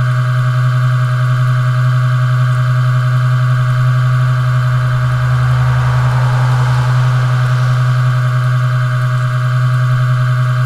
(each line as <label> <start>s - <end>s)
Traffic passing by 3.6s - 9.4s